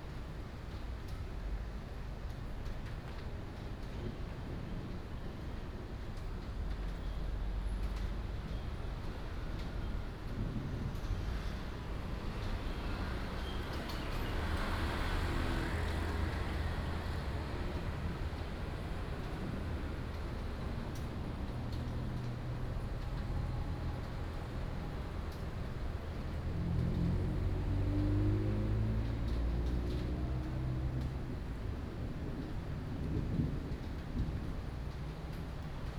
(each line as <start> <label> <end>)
9.9 Traffic Sound 35.9
32.0 Thunder 34.7